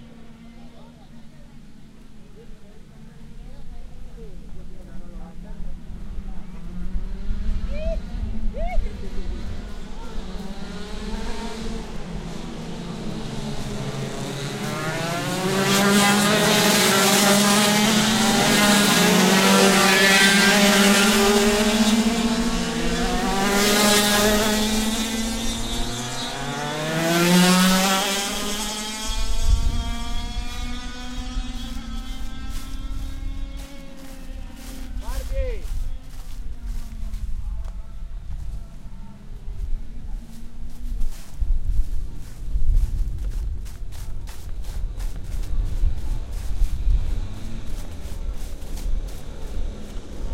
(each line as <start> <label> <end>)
0.0 go karts 50.3
0.0 wind 50.3
8.8 footsteps 50.3